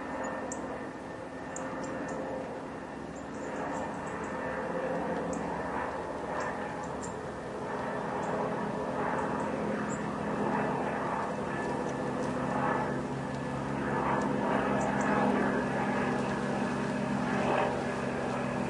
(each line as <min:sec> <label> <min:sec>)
0:00.0 airplane approaches 0:18.6